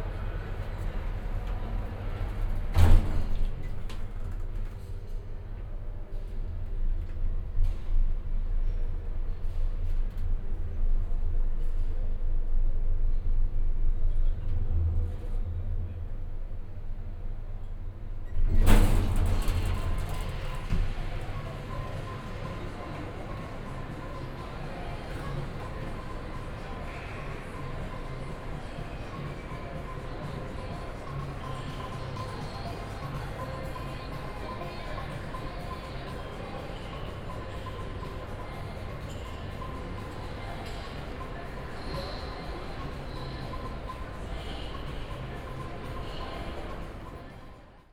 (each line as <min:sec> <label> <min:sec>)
0:00.0 elevators and escalators 0:47.9